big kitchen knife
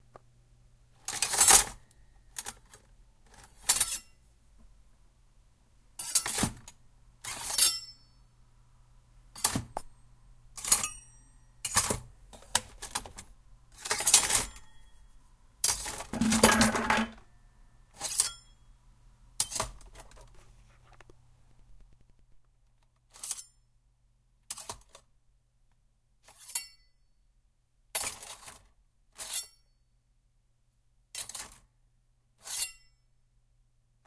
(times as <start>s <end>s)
6.0s 6.6s, 15.7s 17.2s, 32.4s 32.8s